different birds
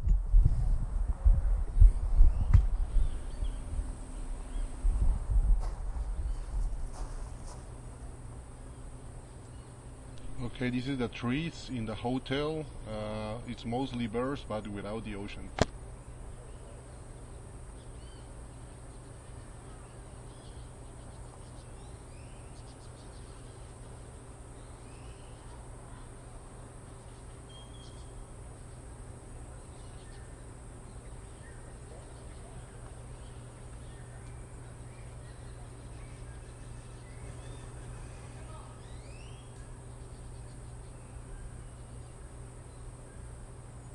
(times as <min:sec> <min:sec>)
0:26.8 0:43.5